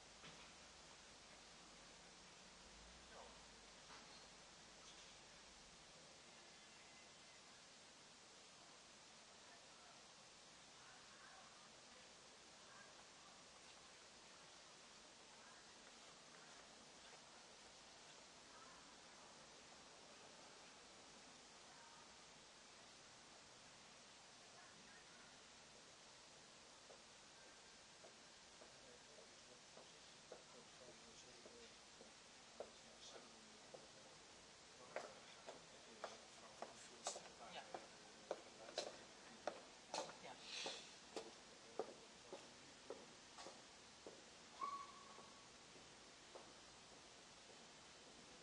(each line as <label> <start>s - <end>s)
voice 9.4s - 10.1s
voice 10.7s - 14.1s
voice 15.2s - 22.2s
voice 24.4s - 25.4s
voice 28.6s - 31.8s